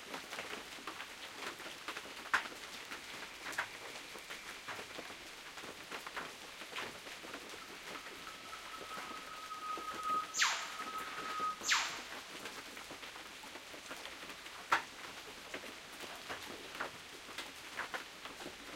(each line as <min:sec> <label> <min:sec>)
0:00.0 Rain 0:18.7
0:07.5 Northern Whipbirds 0:12.4
0:07.8 Catbird 0:12.1